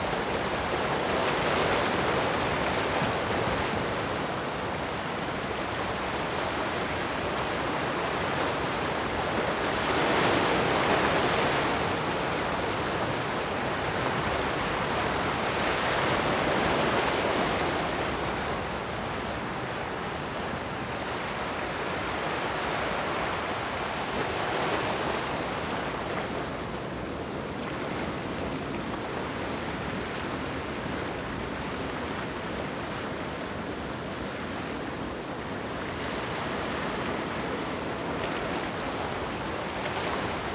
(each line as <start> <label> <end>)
0.0 Waves and tides 40.5